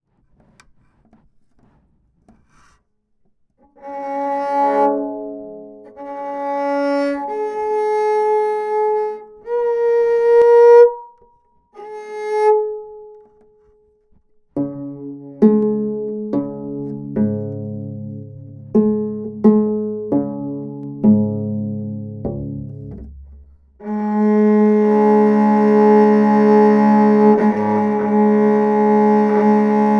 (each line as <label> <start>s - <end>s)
tunning strings 3.6s - 11.2s
tunning strings 14.6s - 29.9s